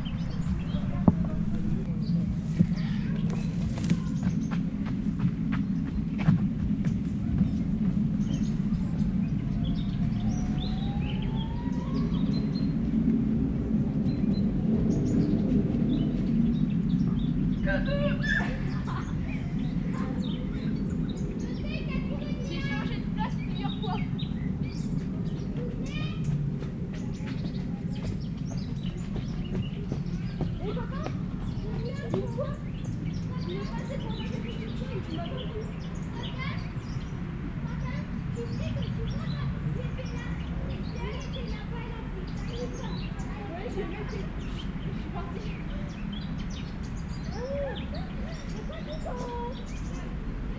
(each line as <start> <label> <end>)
17.6 les enfants jouent à cache-cache 50.5